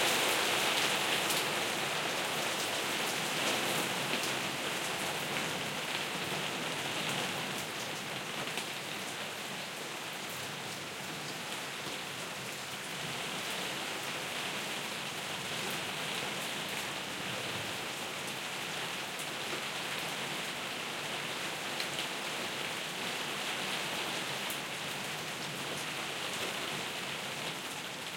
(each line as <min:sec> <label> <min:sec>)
0:00.0 Canopy Rain 0:28.1
0:00.0 wind 0:28.1